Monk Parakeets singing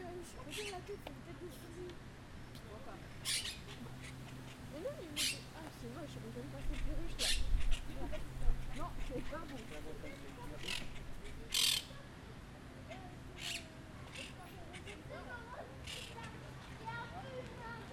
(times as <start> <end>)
0.3 0.9, 3.1 12.0, 12.9 15.0, 15.8 16.4